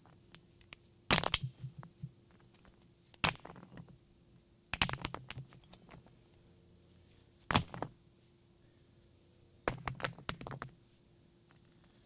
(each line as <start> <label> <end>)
0.0 dropping them on a rock pile 4.0
4.7 dropping them on a rock pile 6.1
7.4 dropping them on a rock pile 8.0
9.6 dropping them on a rock pile 10.8